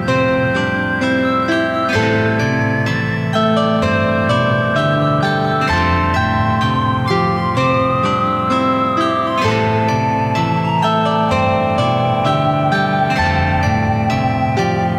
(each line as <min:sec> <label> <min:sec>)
0:00.0 music 0:14.9